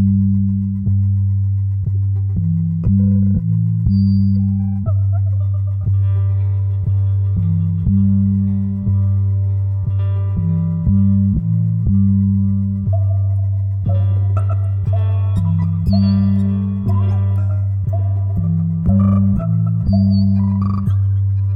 Music 0:00.0 - 0:21.5

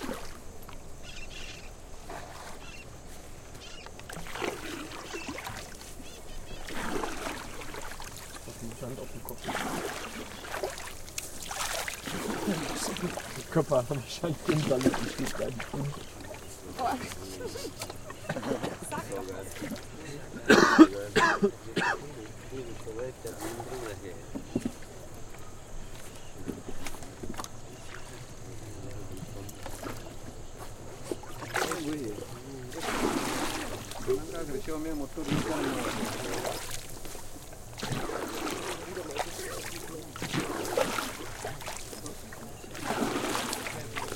River 0:00.0 - 0:44.1

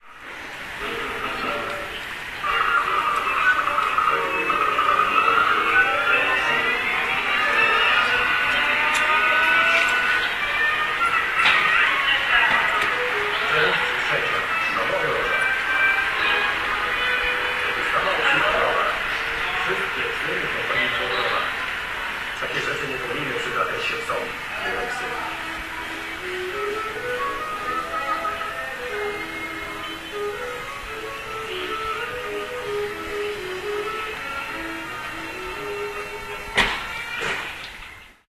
Tv sound audible out of an open window 0:00.0 - 0:38.2
voices 0:00.4 - 0:38.2

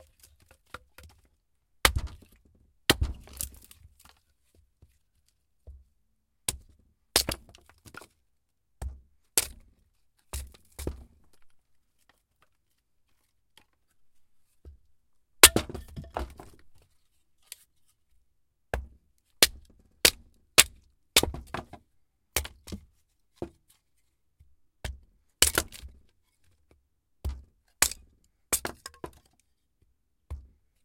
Choping wood with an ax 0:01.8 - 0:04.1
Choping wood with an ax 0:06.5 - 0:08.1
Choping wood with an ax 0:08.8 - 0:09.7
Choping wood with an ax 0:10.3 - 0:11.2
Choping wood with an ax 0:15.4 - 0:16.6
Choping wood with an ax 0:18.7 - 0:23.6
Choping wood with an ax 0:24.8 - 0:26.1
Choping wood with an ax 0:27.2 - 0:29.3
Choping wood with an ax 0:30.3 - 0:30.6

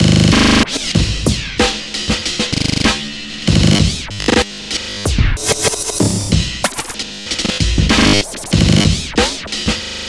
beats 0:00.0 - 0:04.5
beats 0:05.1 - 0:09.8

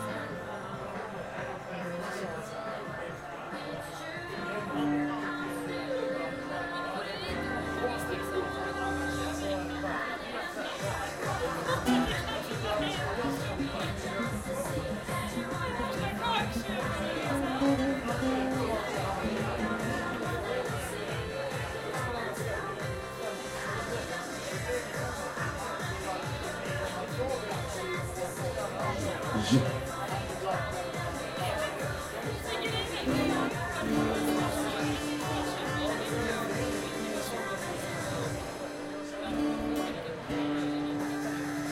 music 0:00.0 - 0:41.7
people 0:00.0 - 0:41.7

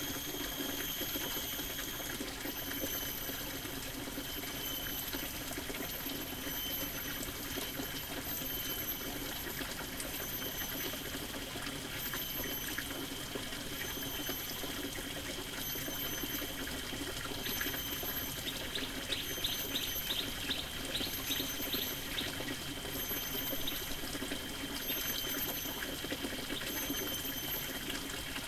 water stream 0:00.0 - 0:28.4

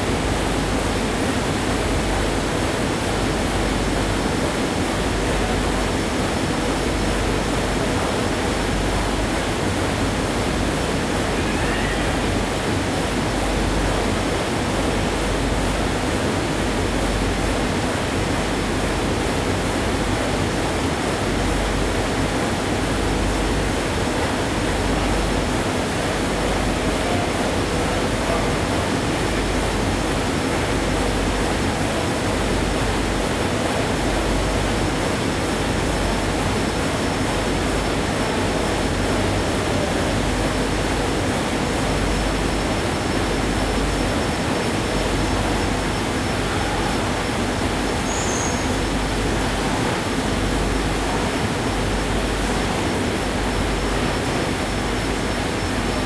workers' voices 0:25.9 - 0:29.8
printing machines are running and idling 0:48.7 - 0:56.0

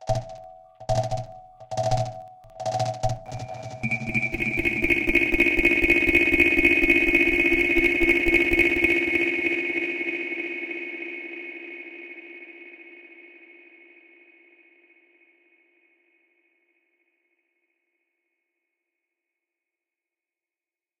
bleeps 0:00.0 - 0:09.1
crackle dub brush fill 001 0:00.0 - 0:09.6

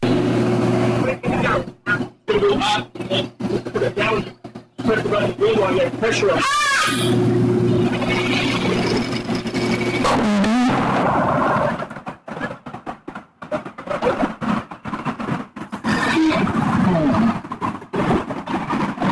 people going by on bikes 0:06.9 - 0:19.1

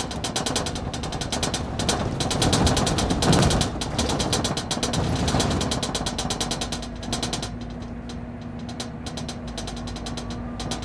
Rattling window on a city bus 0:00.0 - 0:10.8
motor in the background 0:00.0 - 0:10.8
traffic 0:00.0 - 0:10.8

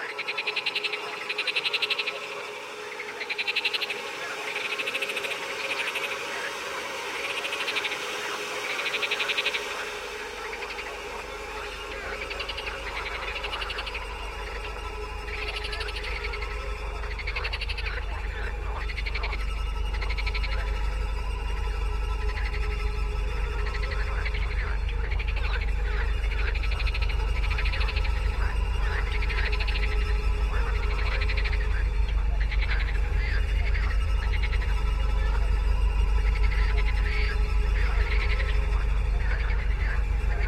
2 string instruments 0:00.0 - 0:40.4
Screaming frogs 0:00.0 - 0:40.4
aquaphone layers 0:22.2 - 0:40.4

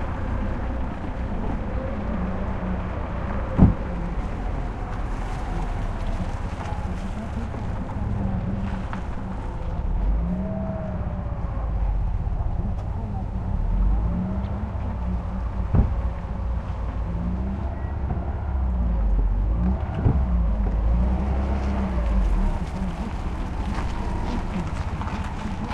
car 0:00.0 - 0:25.7
people 0:00.0 - 0:25.7

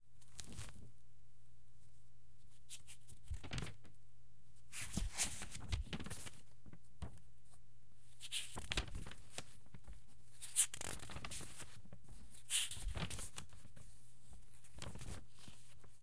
Book Turning Pages 0:04.8 - 0:06.4
Book Turning Pages 0:08.2 - 0:13.8

